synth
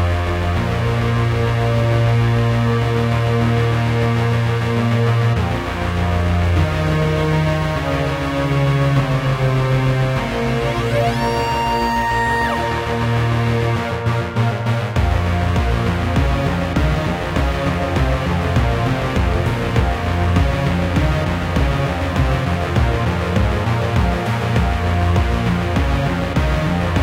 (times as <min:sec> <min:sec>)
0:09.0 0:27.0